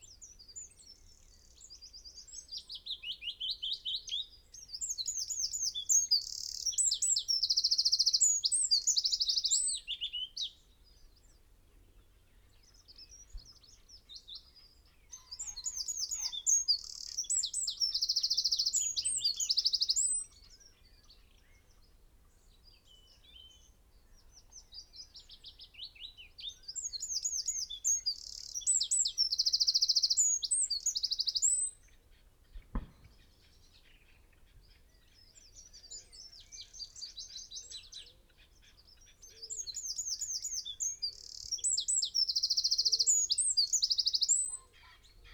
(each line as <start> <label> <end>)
0.0 blackbird 45.3
4.6 willow warblers 45.3
11.1 red-legged partridge 45.3
12.6 robin 45.3